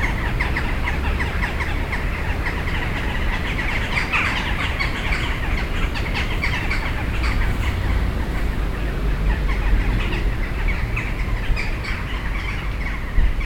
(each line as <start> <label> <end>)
0.0 crows gathering in two trees 13.4